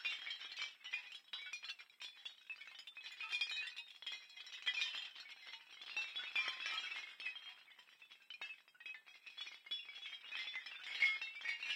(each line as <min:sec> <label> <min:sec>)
0:00.0 pitched small bells 0:11.7